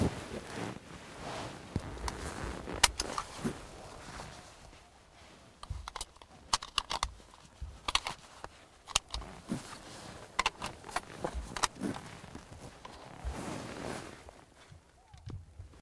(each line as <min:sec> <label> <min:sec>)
0:02.8 Loading bullets into Sauer 404 magazine 0:03.4
0:05.6 Loading bullets into Sauer 404 magazine 0:11.8